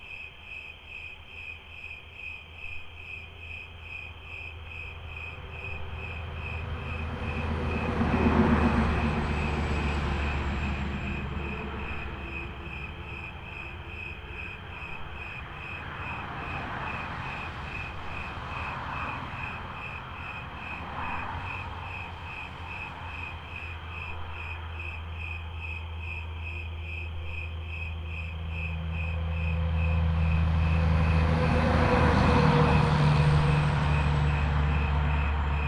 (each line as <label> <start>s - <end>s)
night peepers on the road 0.0s - 35.6s